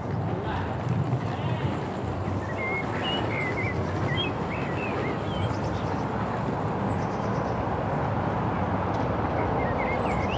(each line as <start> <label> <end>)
2.3 birds 6.2
9.3 birds 10.3